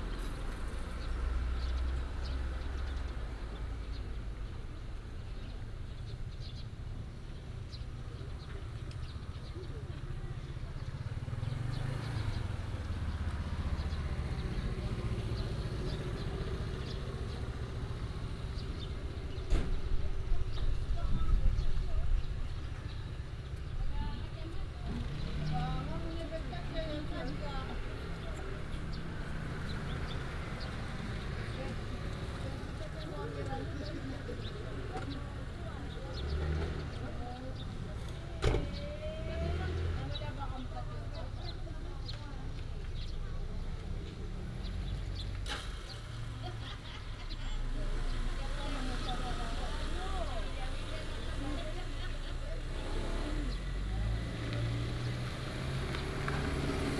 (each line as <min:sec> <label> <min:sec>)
0:00.0 Residents gather to prepare for a ride 0:56.9
0:00.0 Traffic sound 0:56.9
0:00.0 birds sound 0:56.9